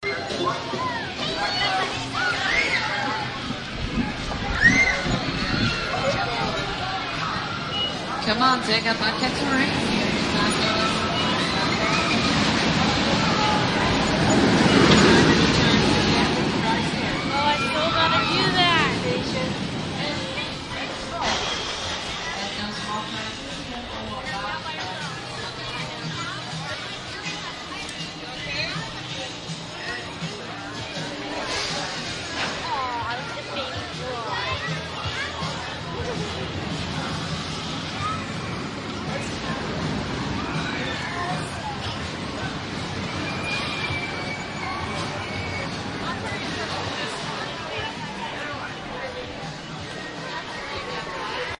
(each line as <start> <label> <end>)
0.0 rides 51.5